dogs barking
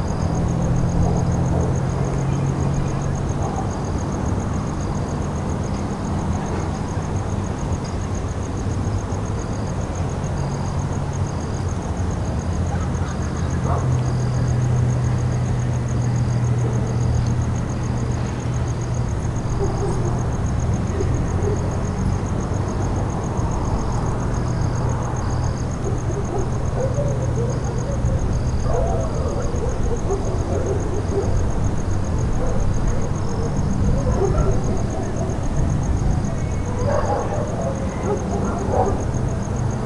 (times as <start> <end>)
12.7 13.9, 19.5 20.3, 25.8 31.5, 32.4 35.5, 36.6 39.4